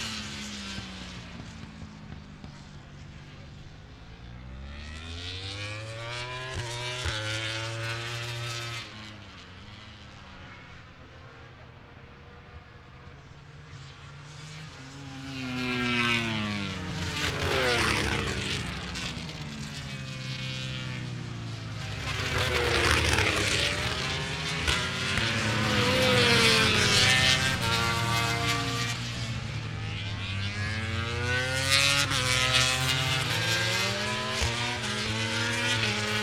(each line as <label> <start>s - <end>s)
990cc bikes 0.0s - 36.2s